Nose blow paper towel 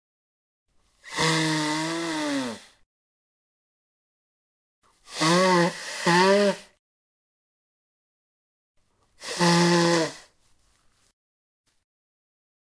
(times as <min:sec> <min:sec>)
0:00.9 0:02.8, 0:04.9 0:06.8, 0:09.2 0:10.6